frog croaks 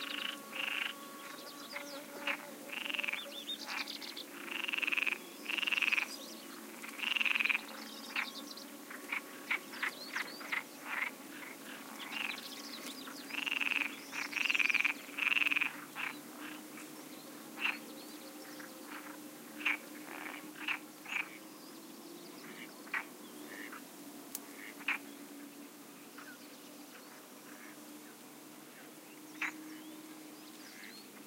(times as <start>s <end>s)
0.0s 1.0s, 2.3s 6.1s, 6.8s 8.3s, 10.4s 12.4s, 13.3s 16.2s, 18.9s 21.4s, 29.4s 29.6s